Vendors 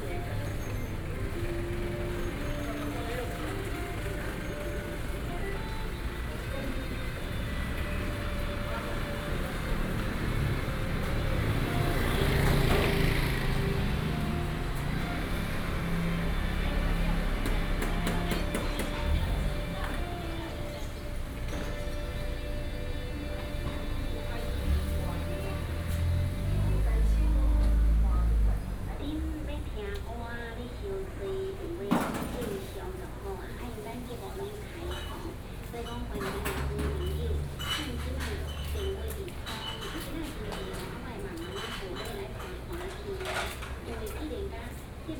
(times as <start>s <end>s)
0.0s 31.2s